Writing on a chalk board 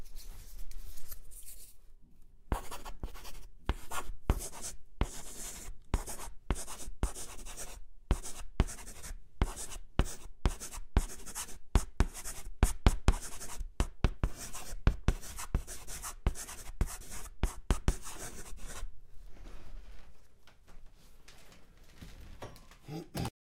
0:02.5 0:18.9

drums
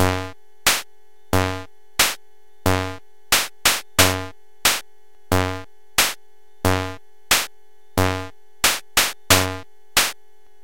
0:00.0 0:00.8, 0:01.4 0:04.8, 0:06.0 0:10.2

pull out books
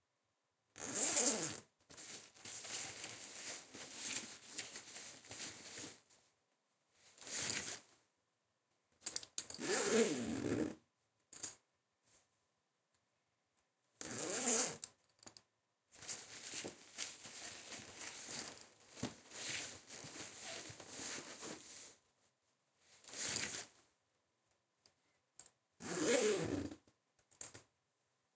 0:16.0 0:21.9

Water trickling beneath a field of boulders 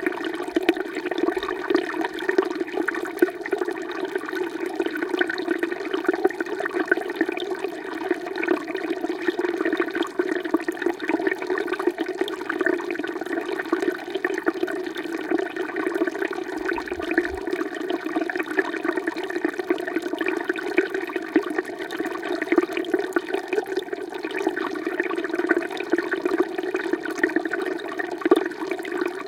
0:10.6 0:29.2

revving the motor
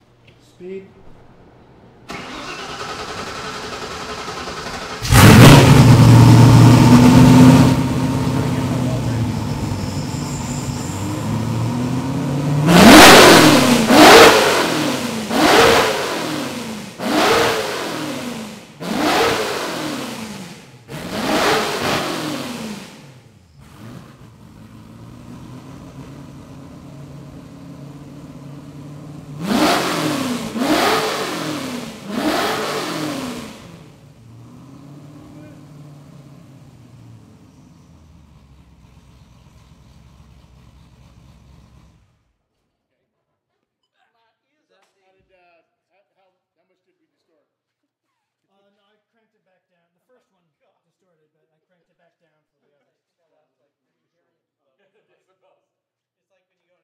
0:02.3 0:09.7, 0:11.2 0:36.6

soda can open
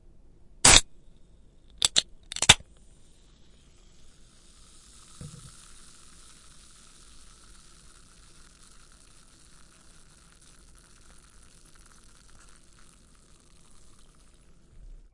0:00.6 0:00.8, 0:01.7 0:02.6, 0:04.0 0:14.8

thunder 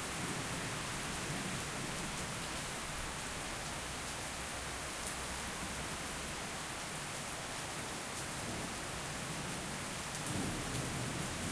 0:10.3 0:11.5

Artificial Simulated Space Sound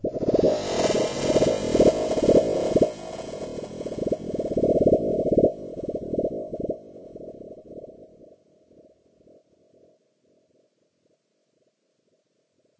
0:00.0 0:08.9

